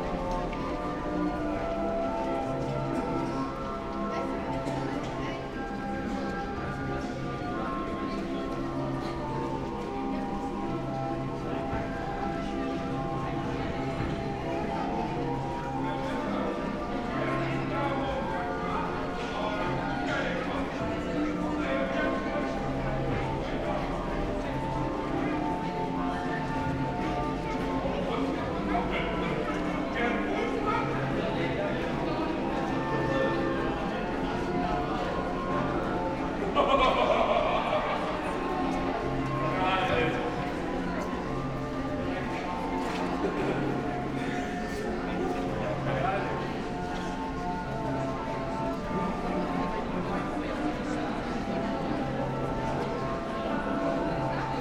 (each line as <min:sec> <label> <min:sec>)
0:00.0 pedestrians passing by 0:54.6
0:00.0 street organ is continuously playing 0:54.6